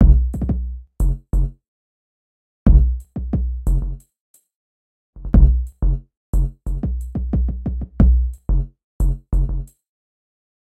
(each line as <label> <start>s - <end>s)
drum 0.0s - 1.5s
drum 2.7s - 4.0s
drum 5.2s - 8.4s